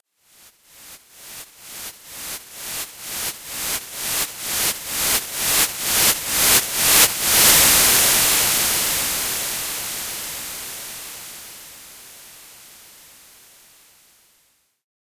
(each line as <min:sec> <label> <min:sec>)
0:01.0 Noise Riser 0:13.0